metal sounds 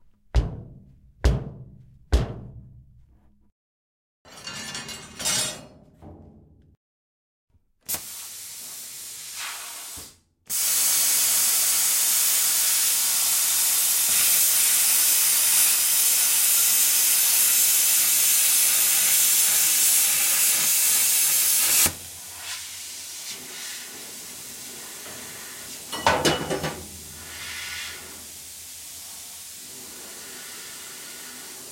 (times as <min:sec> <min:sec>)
0:04.3 0:06.7